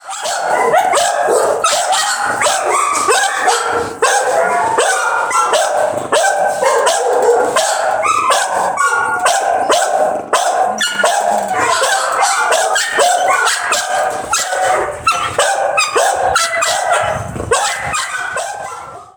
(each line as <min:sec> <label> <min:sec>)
0:00.0 Various Dogs Barking 0:19.1
0:00.3 growling 0:19.0